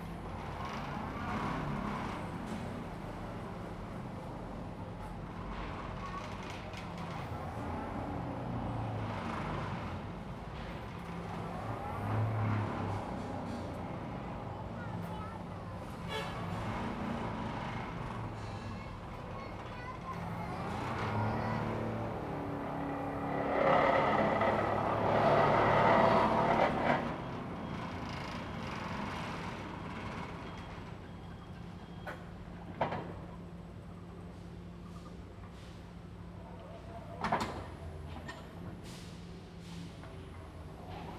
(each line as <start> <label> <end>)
0.0 construction site 41.1